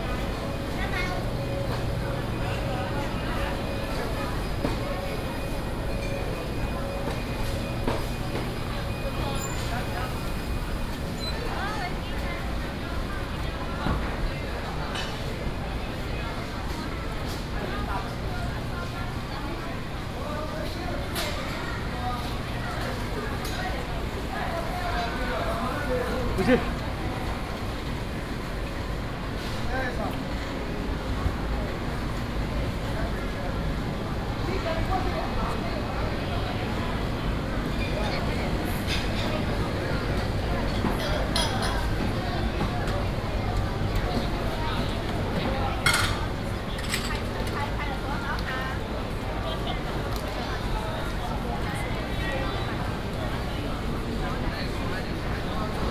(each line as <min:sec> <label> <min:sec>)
0:00.0 Air conditioning noise 0:55.9